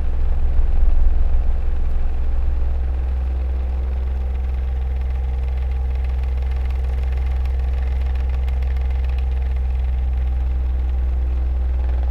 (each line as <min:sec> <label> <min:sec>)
0:00.0 fan 0:12.1